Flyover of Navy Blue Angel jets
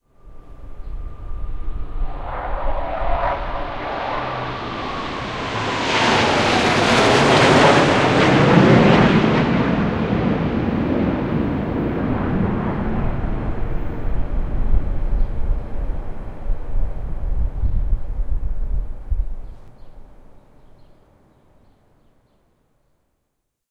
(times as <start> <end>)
0.2 17.5